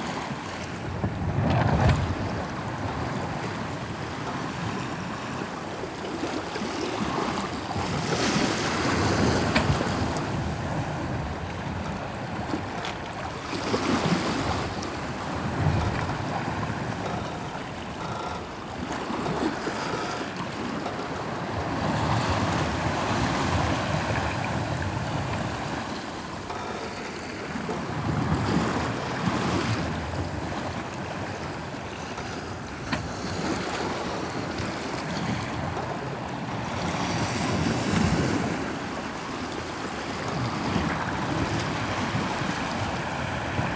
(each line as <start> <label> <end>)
0.0 Sailing 43.7